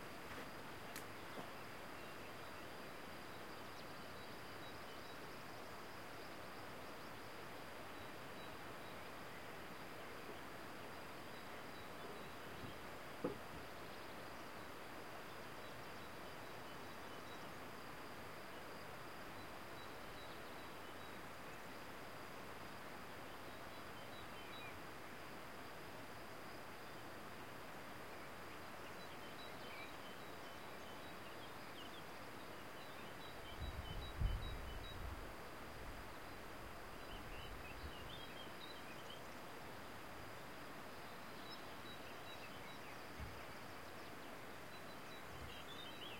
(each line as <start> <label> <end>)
0.0 birds 21.8